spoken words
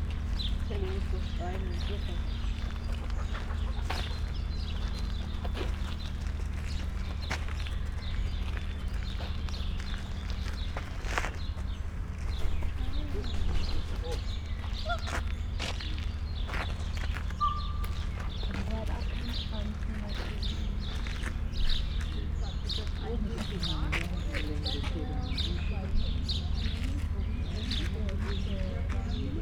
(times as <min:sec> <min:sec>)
0:00.7 0:02.4